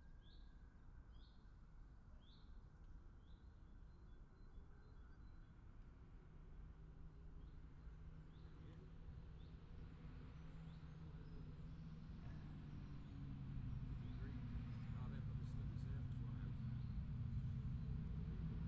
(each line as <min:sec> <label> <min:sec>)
0:14.0 voices 0:16.8